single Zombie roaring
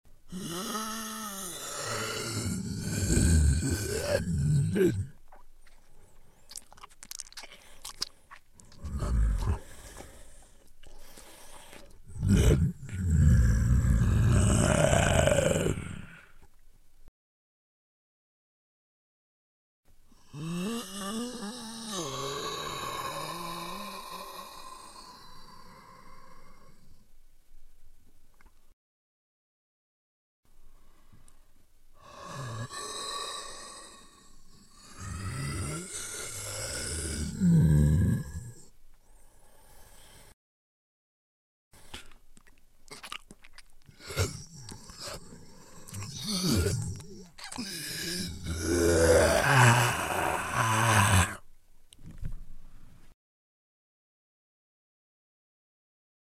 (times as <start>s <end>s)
0.3s 5.2s, 8.8s 9.8s, 12.1s 16.3s, 34.8s 38.6s, 44.0s 51.4s